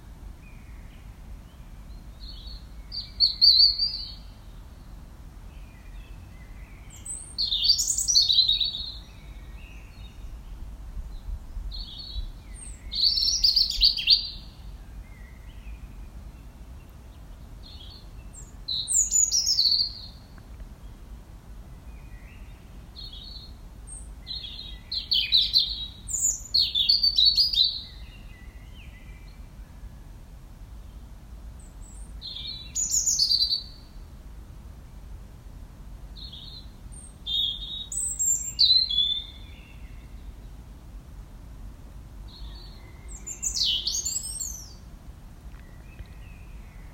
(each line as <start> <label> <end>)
5.6 Blackbirds 21.0
31.6 Blackbirds 34.0
42.3 Blackbirds 46.9